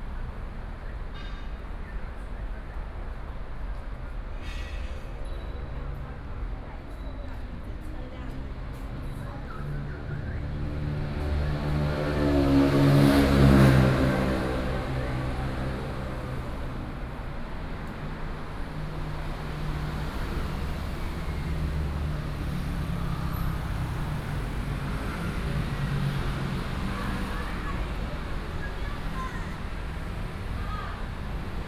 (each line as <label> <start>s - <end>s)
Traffic noise 0.0s - 31.6s